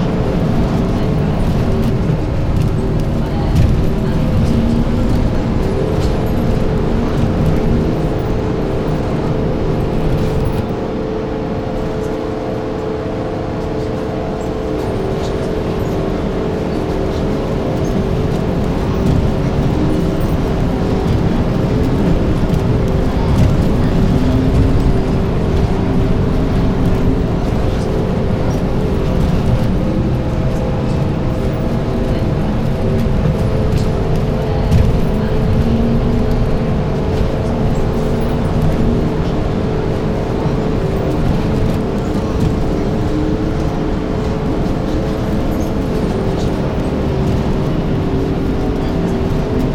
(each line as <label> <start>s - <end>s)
Bus journey 0.0s - 49.7s